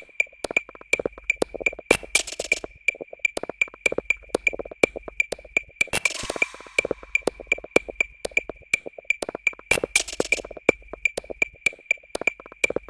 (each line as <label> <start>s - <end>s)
sequence 6.0s - 8.0s